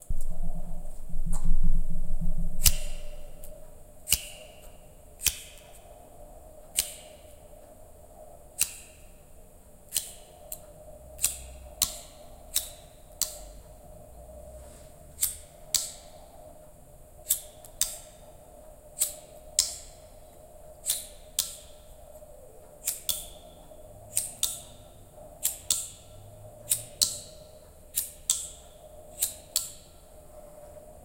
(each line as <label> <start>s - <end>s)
small orange bic lighter 2.6s - 3.5s
small orange bic lighter 6.7s - 7.2s
small orange bic lighter 9.9s - 10.6s
small orange bic lighter 11.2s - 13.4s
small orange bic lighter 17.2s - 18.2s
small orange bic lighter 19.0s - 20.0s
small orange bic lighter 20.8s - 21.8s
small orange bic lighter 22.8s - 23.4s
small orange bic lighter 24.1s - 24.7s
small orange bic lighter 25.4s - 26.0s
small orange bic lighter 26.7s - 29.9s